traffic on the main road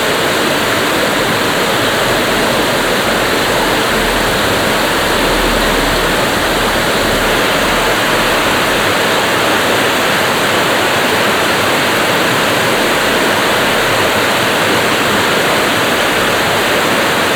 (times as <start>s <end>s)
0.2s 10.9s